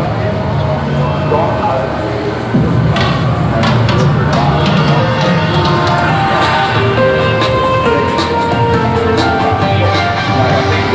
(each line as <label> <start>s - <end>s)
different kind of machines 0.0s - 10.9s